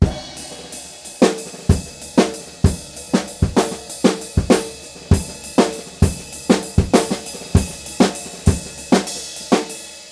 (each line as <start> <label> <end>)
0.0 Ride cymbal 10.1